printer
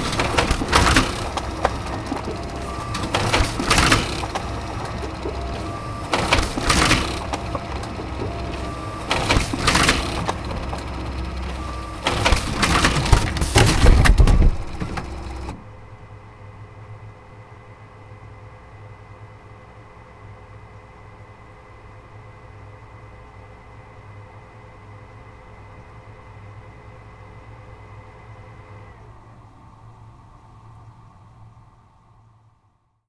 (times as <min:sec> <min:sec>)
0:00.0 0:15.7